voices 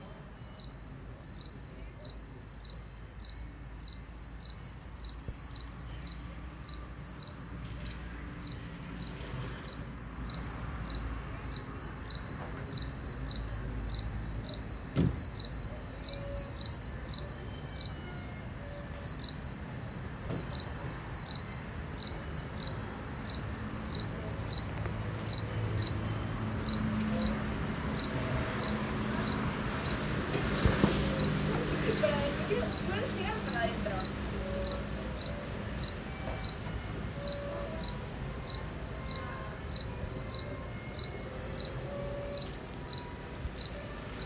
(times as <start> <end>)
22.4 44.2